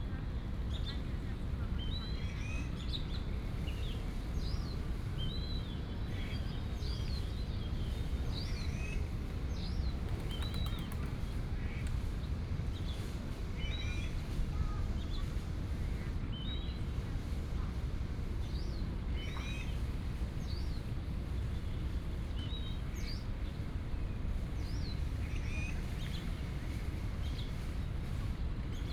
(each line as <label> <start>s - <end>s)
Bird sounds 9.6s - 11.9s
pigeon 10.0s - 11.4s